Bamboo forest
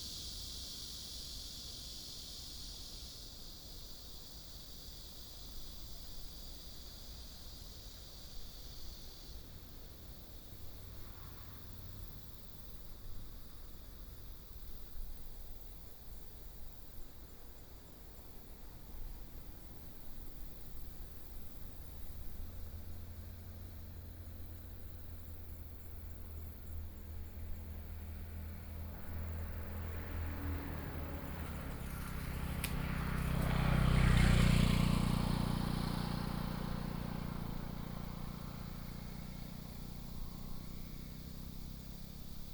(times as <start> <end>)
28.6 40.0